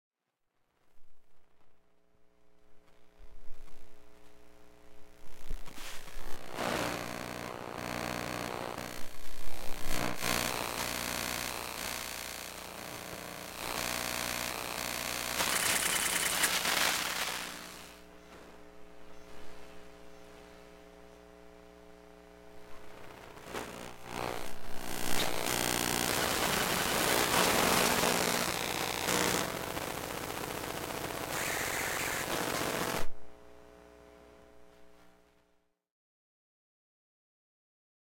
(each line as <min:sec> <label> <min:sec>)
0:06.4 Iphone 7 electromagnetic sounds 0:18.0